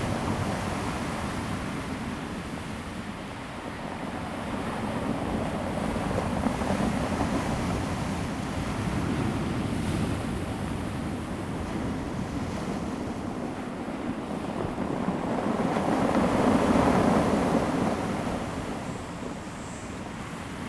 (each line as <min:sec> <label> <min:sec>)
0:00.0 waves 0:20.6